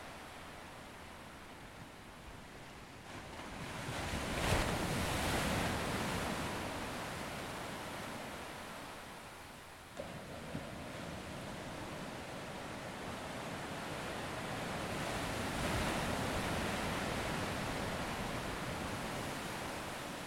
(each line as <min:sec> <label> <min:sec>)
0:00.0 waves were around three feet with regular sets 0:20.2